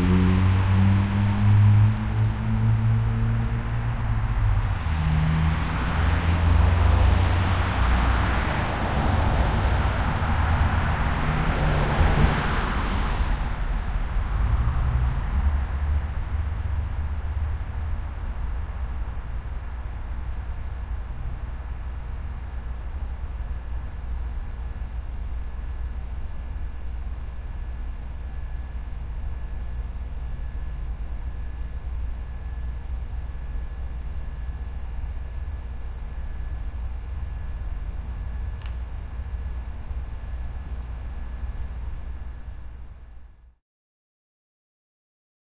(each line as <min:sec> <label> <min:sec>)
0:00.0 car traffic 0:21.0